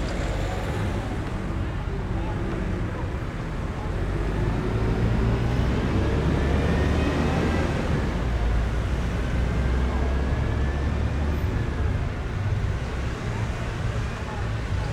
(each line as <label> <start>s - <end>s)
traffic 0.0s - 14.9s